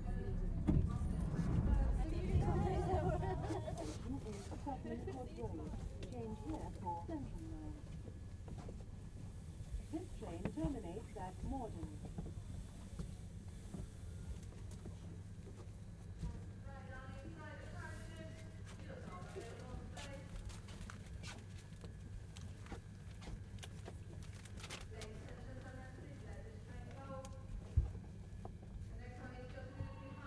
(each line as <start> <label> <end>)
0.0 train 27.2
28.0 train 30.2